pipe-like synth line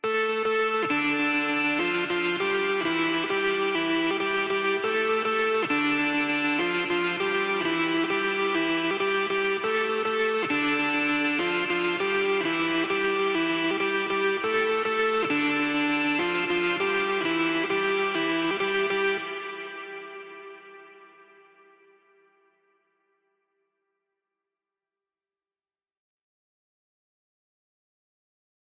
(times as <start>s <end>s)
0.3s 21.0s